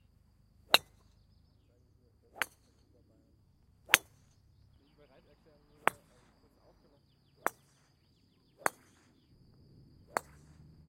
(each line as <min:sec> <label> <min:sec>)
0:00.7 golf ball hits 0:01.2
0:02.3 golf ball hits 0:02.9
0:03.8 golf ball hits 0:04.7
0:05.6 golf ball hits 0:06.4
0:07.4 golf ball hits 0:09.3
0:10.0 golf ball hits 0:10.8